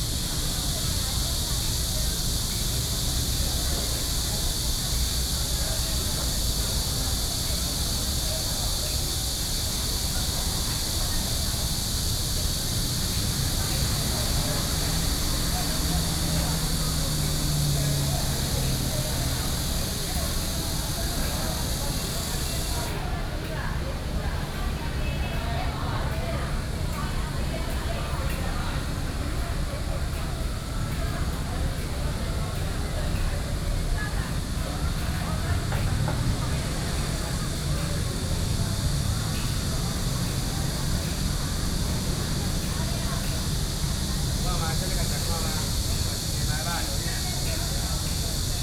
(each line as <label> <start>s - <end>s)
Cicadas cry 0.0s - 48.6s
Traffic Sound 0.0s - 48.6s